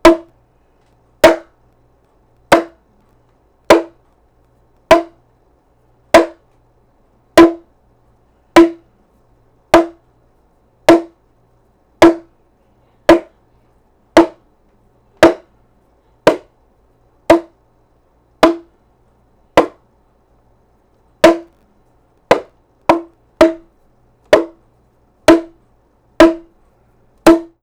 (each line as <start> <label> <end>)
0.0 large bongo drum hit 0.3
1.2 large bongo drum hit 1.5
2.5 large bongo drum hit 2.8
3.7 large bongo drum hit 3.9
4.9 large bongo drum hit 5.2
6.2 large bongo drum hit 6.4
7.4 large bongo drum hit 7.6
8.6 large bongo drum hit 8.8
9.8 large bongo drum hit 10.0
10.9 large bongo drum hit 11.1
12.0 large bongo drum hit 12.3
13.1 large bongo drum hit 13.3
14.2 large bongo drum hit 14.4
15.2 large bongo drum hit 15.4
17.3 large bongo drum hit 17.5
18.4 large bongo drum hit 18.7
21.2 large bongo drum hit 21.5
22.3 large bongo drum hit 23.6
24.3 large bongo drum hit 24.6
25.3 large bongo drum hit 25.6
26.2 large bongo drum hit 26.5
27.3 large bongo drum hit 27.6